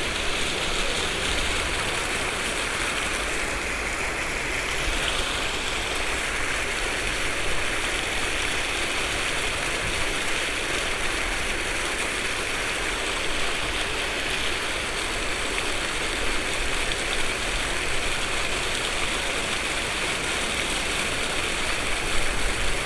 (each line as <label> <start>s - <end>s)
fountain 0.0s - 22.8s